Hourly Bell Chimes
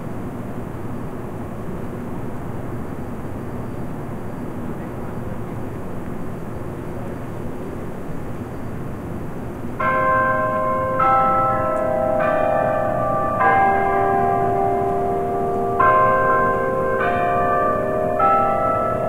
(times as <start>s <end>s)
9.8s 19.0s